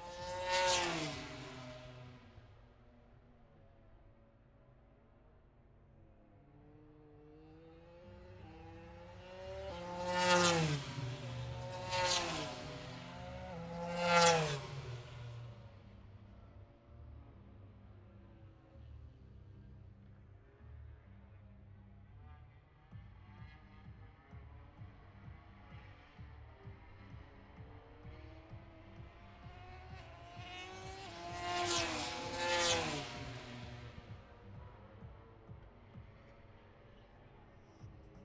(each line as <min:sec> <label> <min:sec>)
0:00.0 motorcycle grand prix 0:38.2